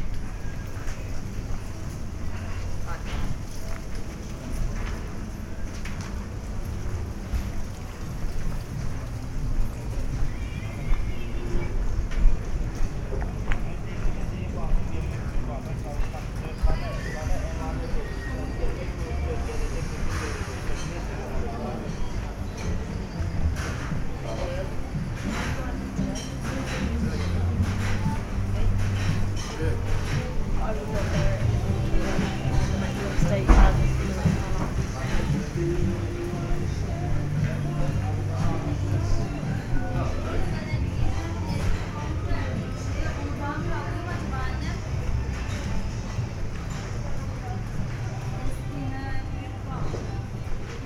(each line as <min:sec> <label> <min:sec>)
0:00.0 walking around main streets 0:50.8